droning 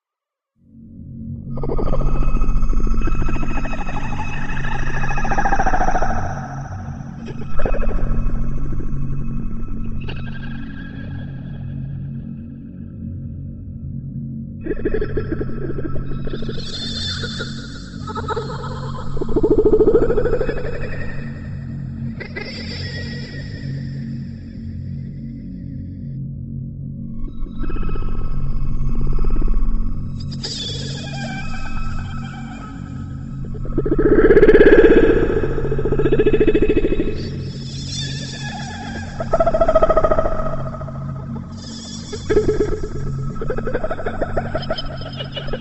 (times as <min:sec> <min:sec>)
0:01.2 0:12.2, 0:26.8 0:45.6